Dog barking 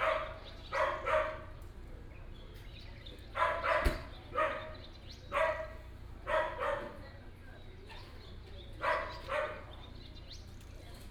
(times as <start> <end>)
0.0 1.4, 3.4 4.7, 5.4 7.0, 8.8 9.7